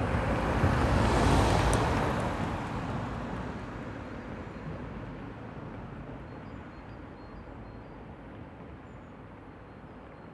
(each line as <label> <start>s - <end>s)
cars passing on a cracked road 0.0s - 6.1s